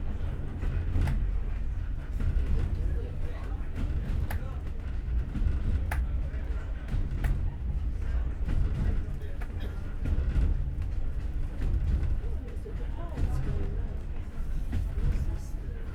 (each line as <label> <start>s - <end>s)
Steam train journey 0.0s - 15.9s